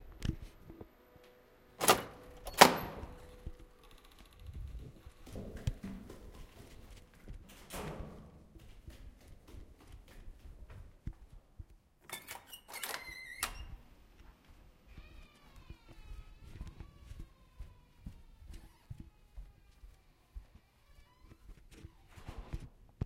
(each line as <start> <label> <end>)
1.8 opened heavy secure fire door 8.5
1.8 door closing behind 8.5
2.8 ran downstairs (echoes) 11.8
4.8 walk on carpet 11.9
12.1 door closing behind 13.8
12.1 opened heavy secure fire door 13.8
14.1 walk on carpet 22.7